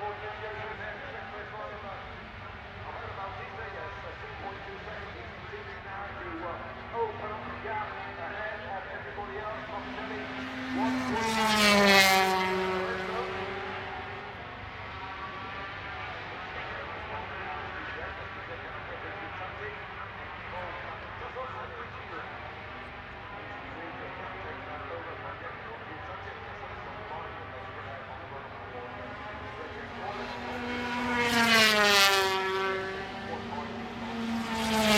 0.0s Motorcycle Grand Prix 2004 ... 125 race 34.9s

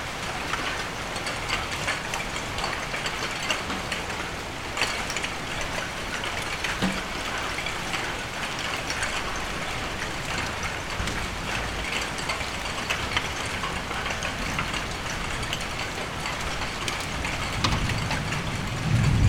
0.0s heavy rain with hailstone 19.2s

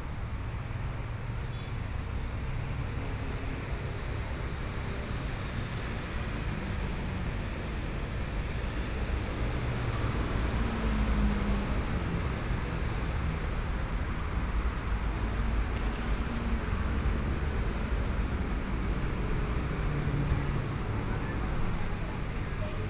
0.0s Traffic Sound 22.8s
0.0s walking on the Road 22.8s

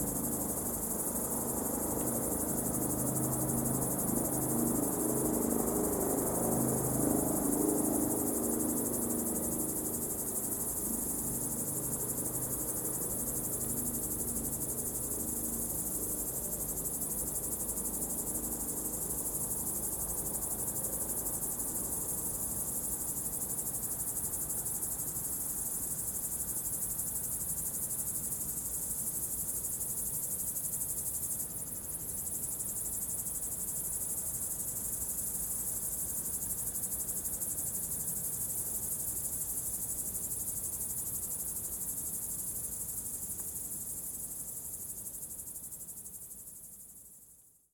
0.0s Crickets 47.7s

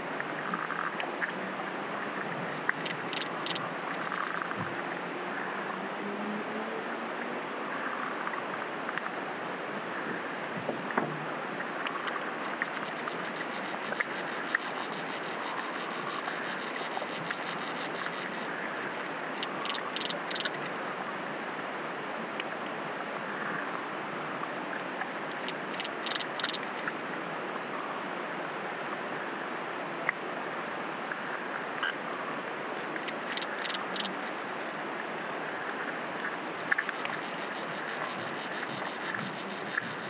2.1s Kingfisher 4.7s
11.8s Kingfisher 20.7s
25.3s Kingfisher 26.9s
31.8s Kingfisher 34.4s

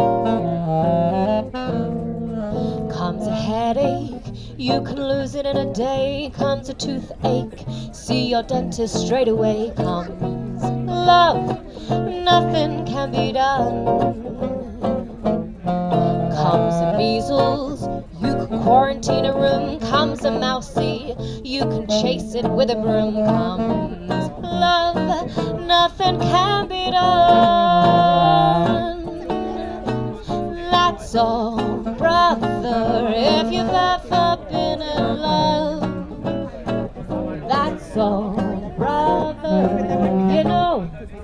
0.0s singer performed 41.2s

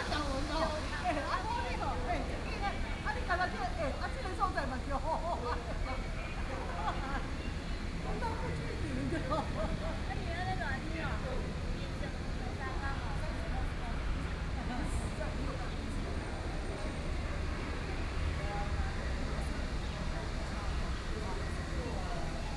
0.0s Many tourists 22.5s

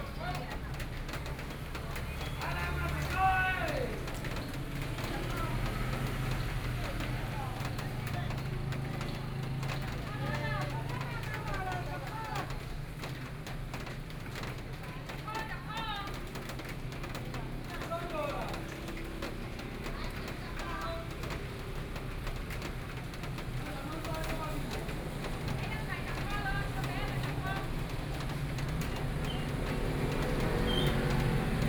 0.0s Traffic Noise 31.6s
0.0s vegetable vendors selling their voice 31.6s

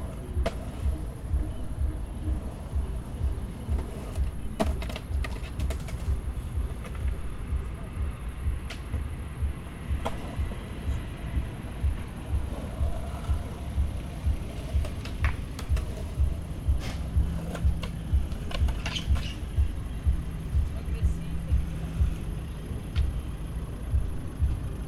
0.0s Auto fährt heran 24.8s
12.3s Geräusche einer Skating-Anlage 19.6s

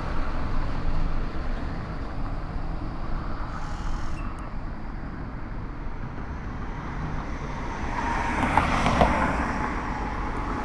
0.0s vehicles passing 10.6s

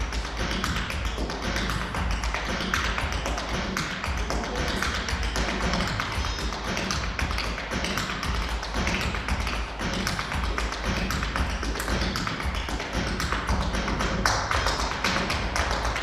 0.0s stepdancer rehearsing 16.0s

